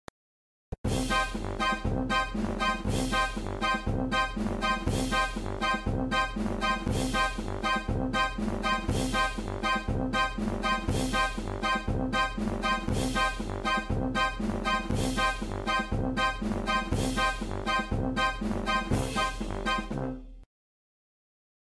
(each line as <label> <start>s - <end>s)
horn 0.9s - 20.4s